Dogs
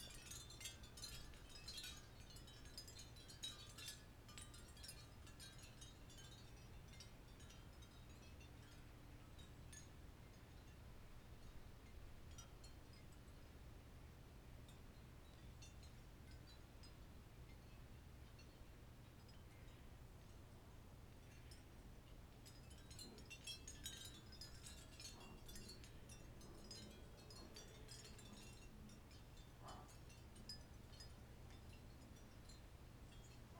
29.6s 30.0s

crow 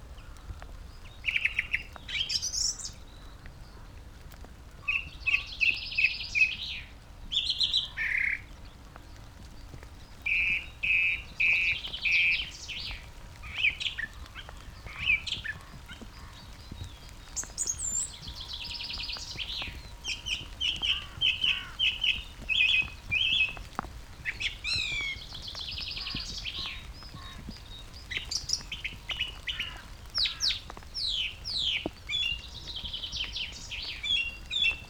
20.8s 22.1s, 29.4s 30.6s

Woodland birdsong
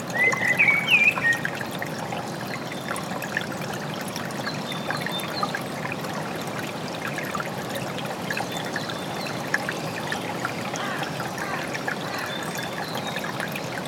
0.1s 1.6s

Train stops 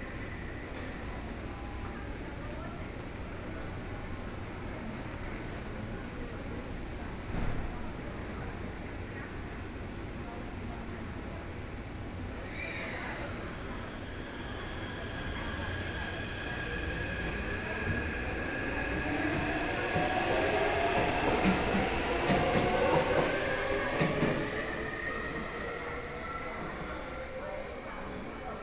12.3s 28.6s

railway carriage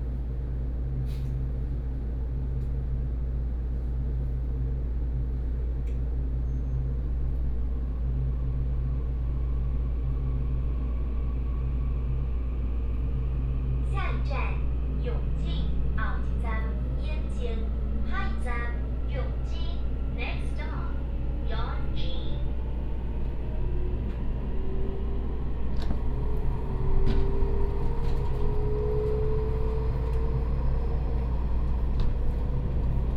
14.1s 33.1s

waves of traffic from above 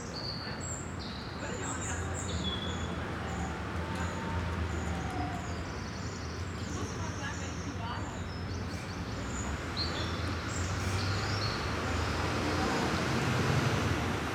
9.2s 14.3s

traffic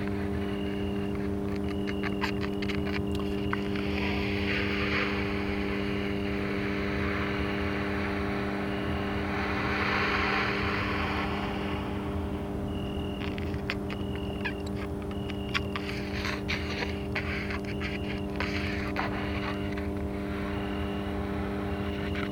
6.2s 15.9s

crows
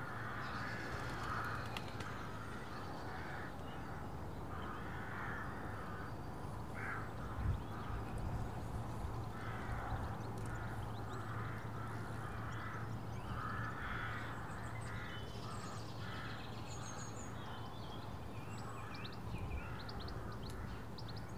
0.0s 8.3s, 9.3s 17.0s

